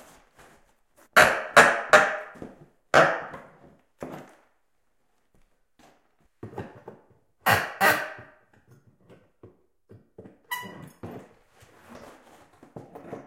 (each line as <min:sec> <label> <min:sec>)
0:10.4 creaking and squeaking 0:13.2